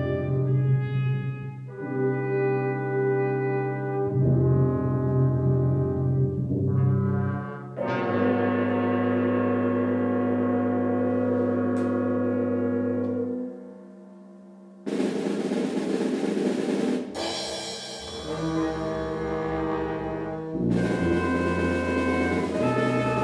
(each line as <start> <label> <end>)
0.0 brass band rehearsal 14.2
14.8 brass band rehearsal 23.2